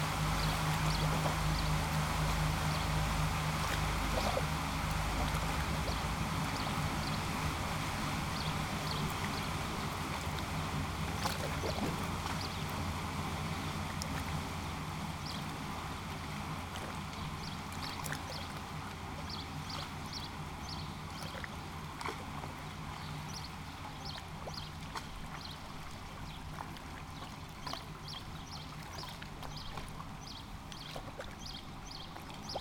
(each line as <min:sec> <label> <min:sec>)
0:00.0 boat 0:32.6
0:27.7 sparrows 0:32.6